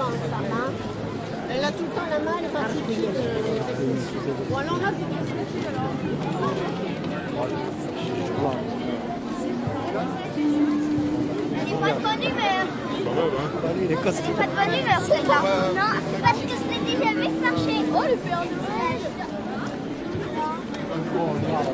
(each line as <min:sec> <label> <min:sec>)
0:00.0 crowd sounds 0:21.7
0:07.5 background music 0:21.7